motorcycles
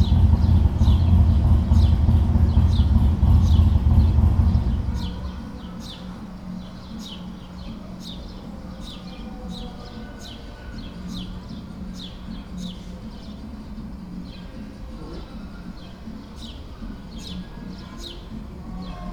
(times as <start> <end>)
0.0 5.5